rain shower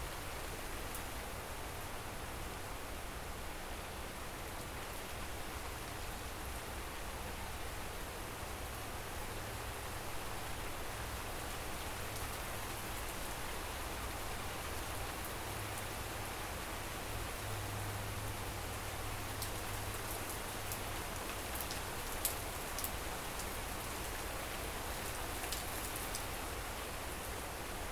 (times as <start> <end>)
7.9 27.9